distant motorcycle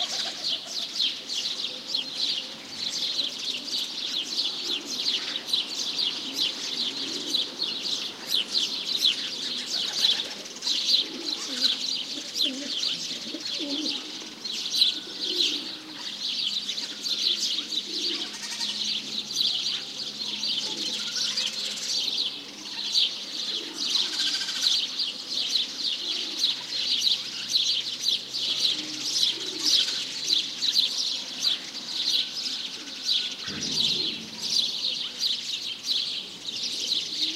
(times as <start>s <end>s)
33.4s 35.4s